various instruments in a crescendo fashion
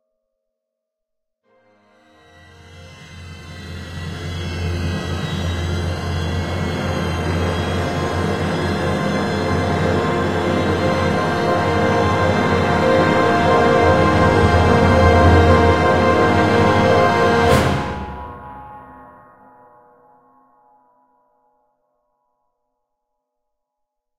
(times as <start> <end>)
1.9 19.2